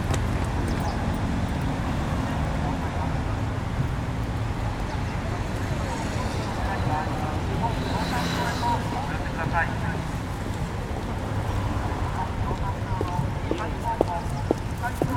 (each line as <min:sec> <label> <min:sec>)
0:00.0 passers-by 0:15.1